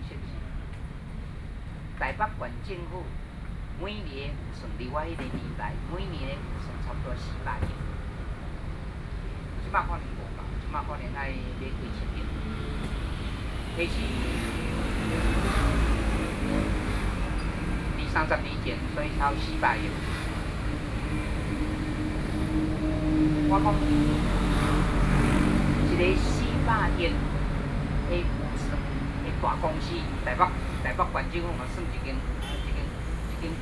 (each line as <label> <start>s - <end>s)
Speech 0.0s - 0.6s
Speech 2.0s - 3.1s
Speech 3.8s - 7.8s
Speech 9.6s - 12.4s
Speech 13.8s - 14.3s
Speech 15.0s - 15.6s
Speech 18.0s - 20.0s
Speech 23.5s - 24.0s
Speech 25.8s - 27.2s
Speech 28.1s - 33.6s